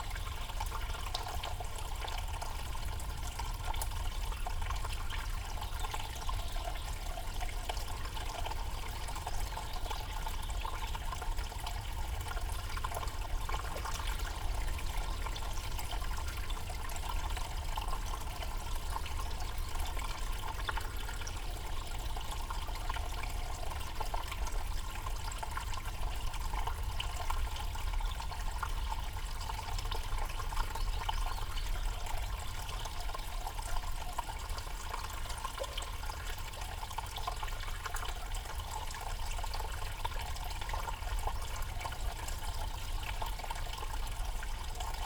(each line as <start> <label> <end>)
0.0 Culvert under the road 45.0